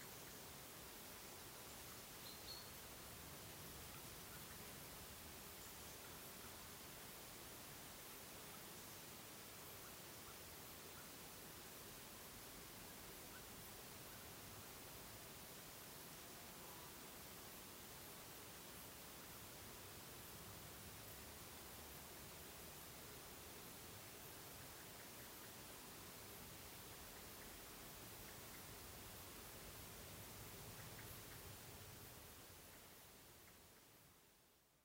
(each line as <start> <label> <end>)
1.4 birds 6.9
22.8 birds 33.9